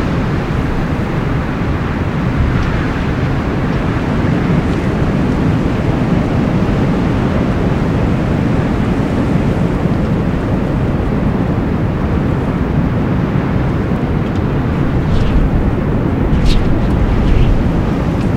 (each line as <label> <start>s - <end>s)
wind 0.0s - 18.3s